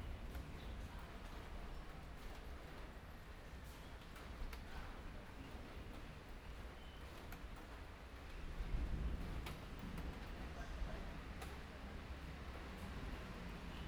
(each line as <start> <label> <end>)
8.5 Thunderstorm 10.3